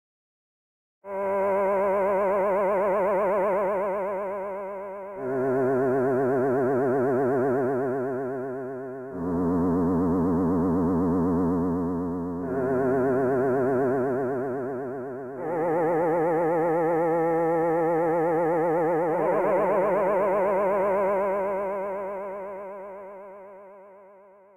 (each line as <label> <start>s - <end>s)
quirky digital noise type sound 5.1s - 23.1s